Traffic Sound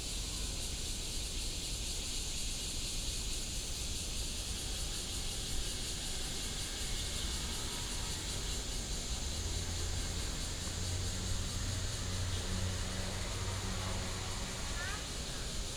0:06.5 0:15.7

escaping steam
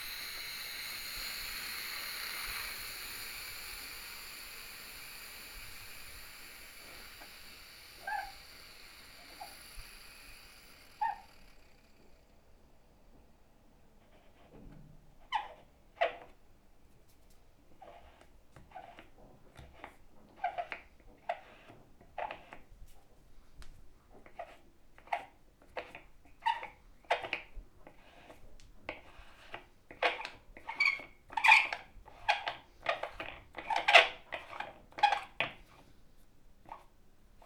0:00.0 0:12.2

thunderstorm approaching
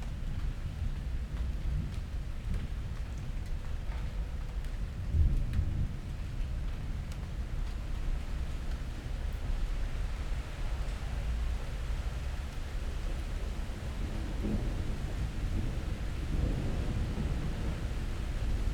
0:13.8 0:18.7

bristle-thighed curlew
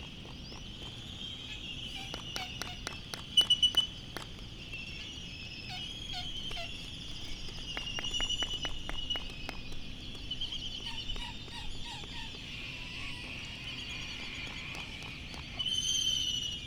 0:03.4 0:16.6

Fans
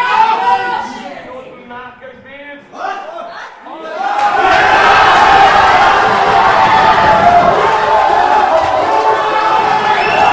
0:04.0 0:10.3

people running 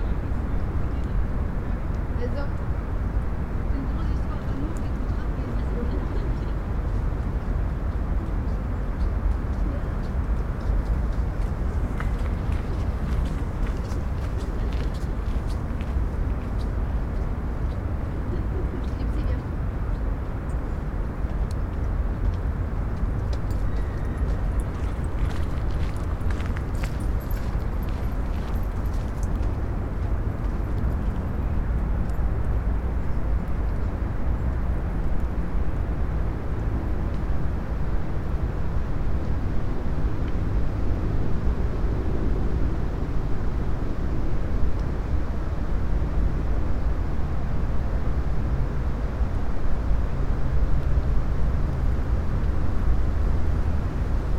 0:10.7 0:16.6, 0:23.6 0:29.5

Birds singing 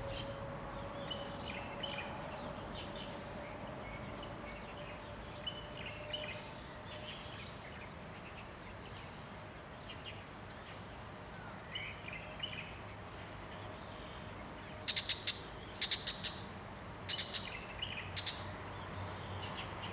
0:00.0 0:02.0

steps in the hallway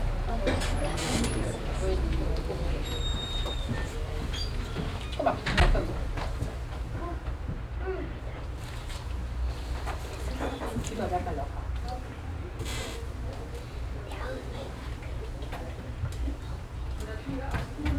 0:00.4 0:07.8

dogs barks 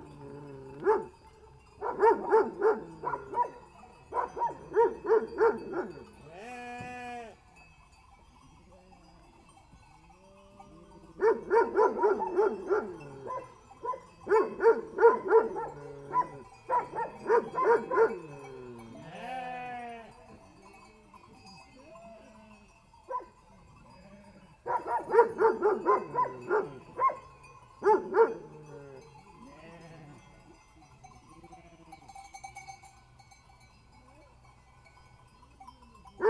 0:00.8 0:01.2, 0:01.8 0:06.0, 0:11.2 0:18.5, 0:23.1 0:23.4, 0:24.6 0:28.8

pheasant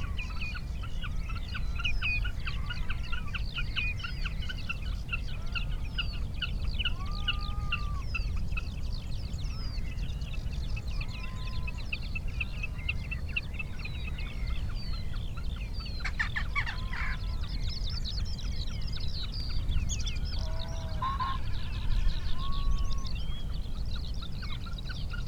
0:09.5 0:25.2

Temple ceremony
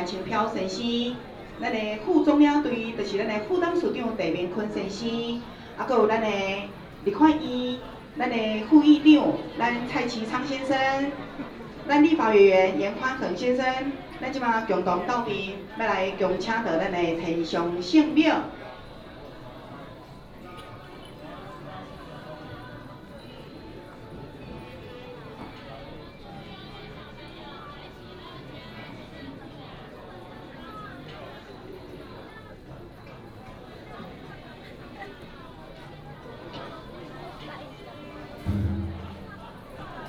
0:00.0 0:28.5, 0:36.6 0:40.0

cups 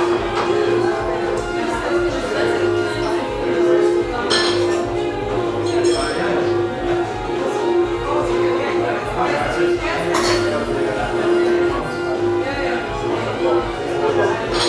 0:00.0 0:07.0

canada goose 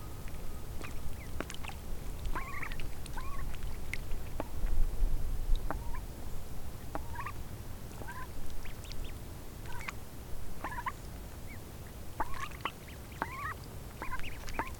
0:00.0 0:04.5, 0:05.6 0:06.1, 0:06.9 0:07.4, 0:08.0 0:10.0, 0:10.6 0:14.7

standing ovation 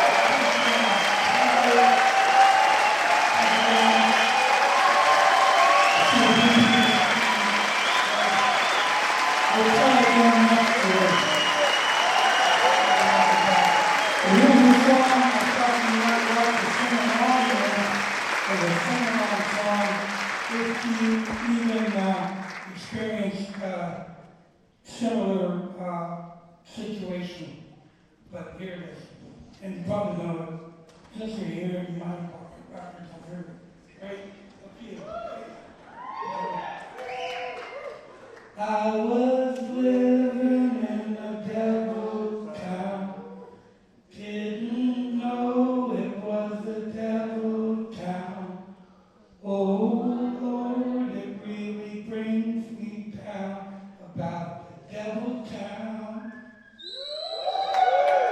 0:00.0 0:23.1, 0:34.8 0:38.6, 0:56.7 0:58.3

